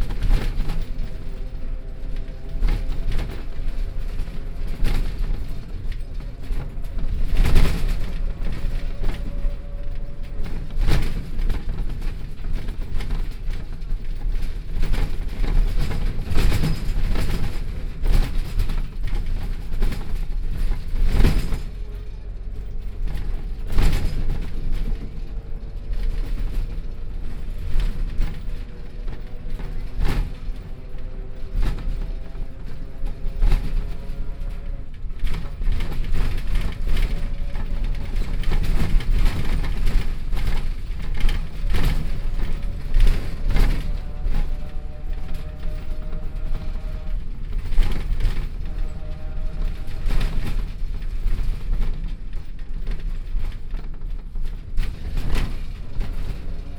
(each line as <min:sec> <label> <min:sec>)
0:00.0 Bus 0:56.7